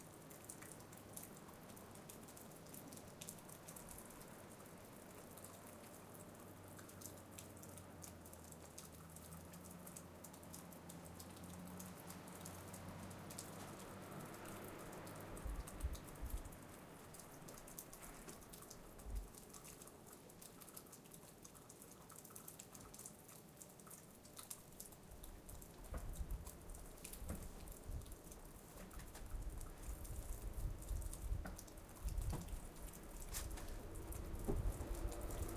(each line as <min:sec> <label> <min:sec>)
0:00.0 wind 0:35.5
0:01.6 distant cars 0:19.3
0:31.6 distant cars 0:35.5